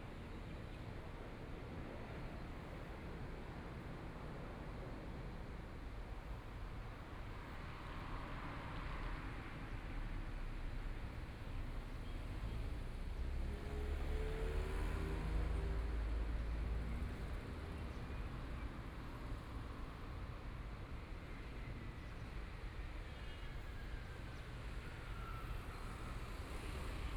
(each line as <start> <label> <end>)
6.6 Traffic Sound 27.1